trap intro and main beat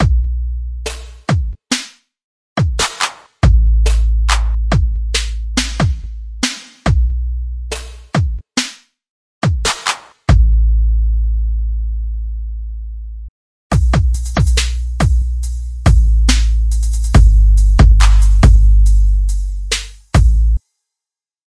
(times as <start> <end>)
13.7 20.6